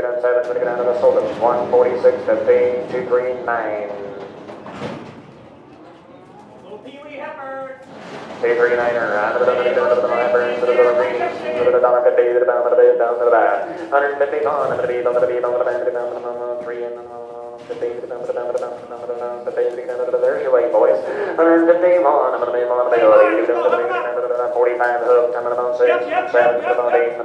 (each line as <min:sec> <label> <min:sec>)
0:00.0 man is talking 0:04.1
0:00.0 people are bidding 0:27.2
0:06.6 man is talking 0:07.8
0:08.4 man is talking 0:27.2